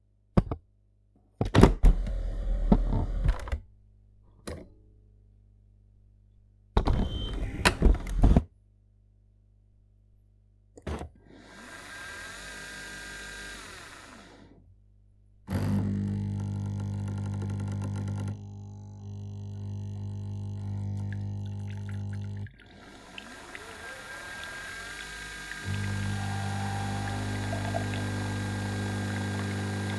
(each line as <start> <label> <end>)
15.5 making coffee with a Nespresso coffee maker 29.9